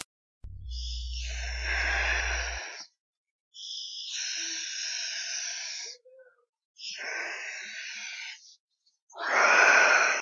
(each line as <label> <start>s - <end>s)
Xenomorph Noise 0.0s - 3.0s